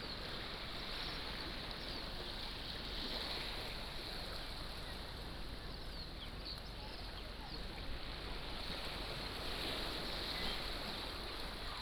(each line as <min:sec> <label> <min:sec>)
0:01.0 waves 0:11.8